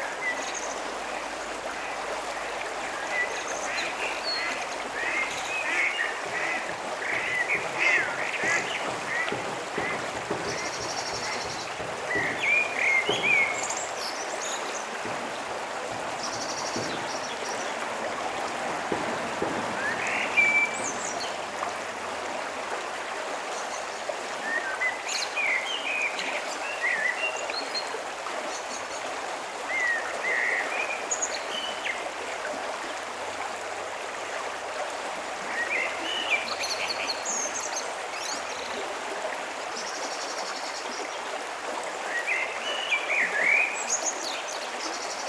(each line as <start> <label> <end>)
3.2 bird calls in separate channels 14.9